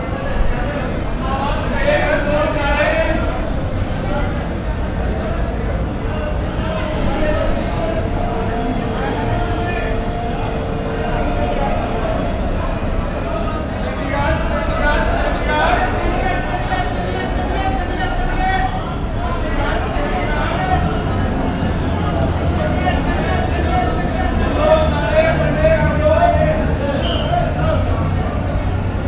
0.0s crowds 29.0s

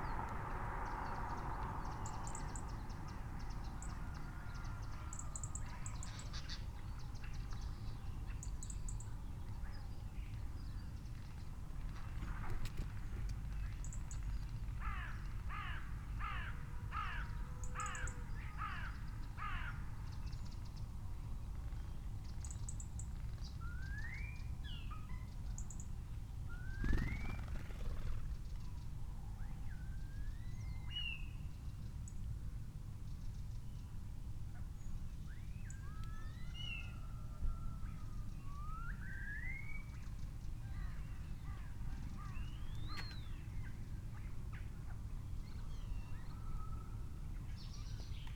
14.8s crow 19.9s
22.4s pheasant 28.8s
26.5s blackbird 28.6s
26.7s collared dove 28.4s
38.6s blackbird 46.8s

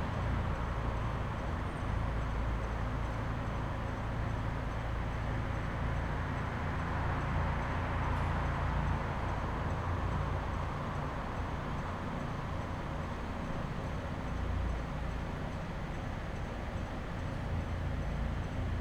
0.0s Vehicles driving inside a parking garage 18.8s

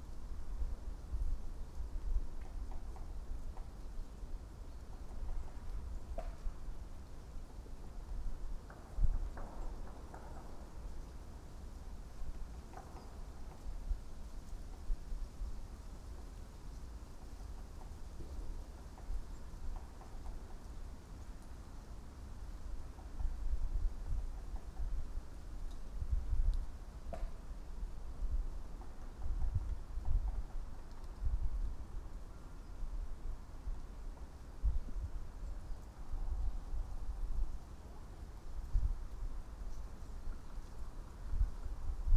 0.0s creaking trees 42.1s
0.0s gentle wind 42.1s
0.0s traffic noise beyond the hill 42.1s

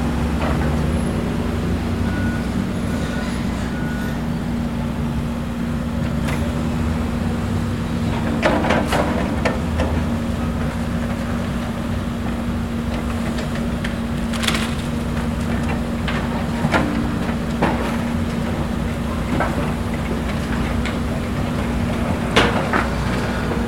0.0s engine 23.6s
0.0s road traffic 23.6s
13.0s destruction of building 20.9s

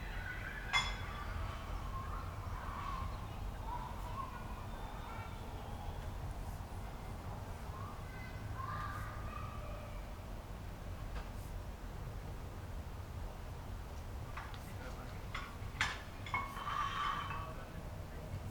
0.0s neighbours at work 18.5s

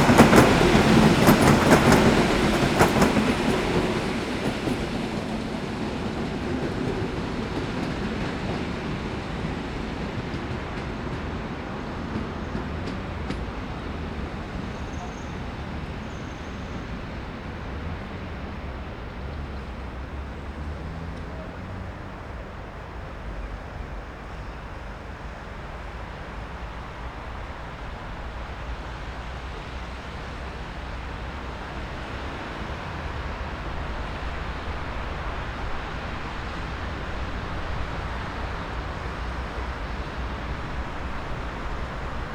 0.0s City rush 42.3s
0.0s Train arrival and departure 42.3s
0.0s train announcements 42.3s

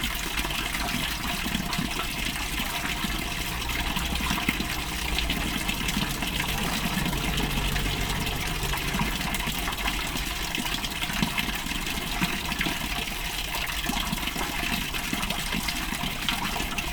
0.0s continous flow of waste water 16.9s
3.0s sudden bigger wave 11.2s

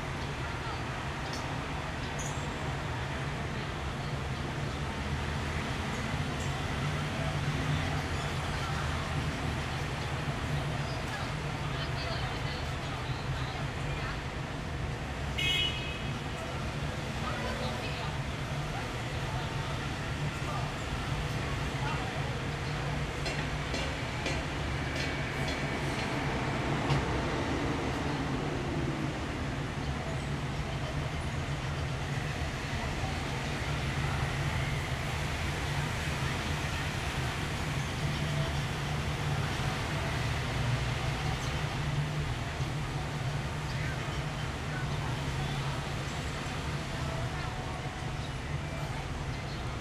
0.0s teenagers can just be heard talking 49.8s

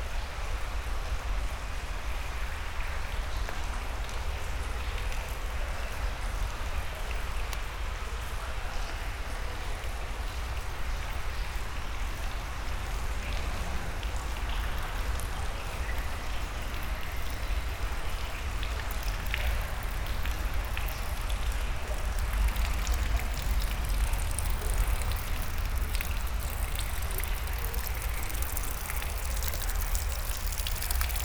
0.0s Dirty underground river 31.2s
9.2s Walking into the underground river 31.2s

